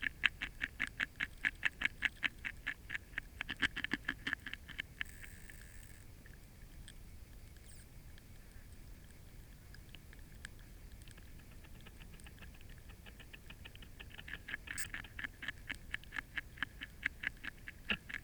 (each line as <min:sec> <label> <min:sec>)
0:09.2 tadpoles nibbling from a spawn covered branch 0:18.2
0:11.1 frogs vocalising 0:18.2